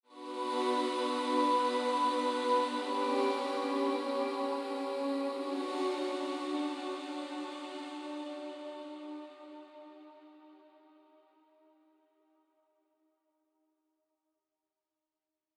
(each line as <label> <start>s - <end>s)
haunting hymn 0.1s - 9.8s